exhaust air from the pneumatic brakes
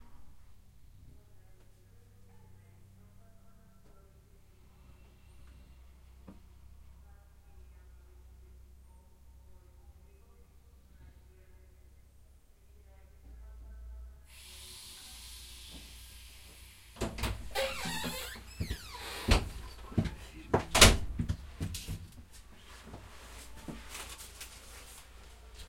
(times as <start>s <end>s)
14.3s 17.0s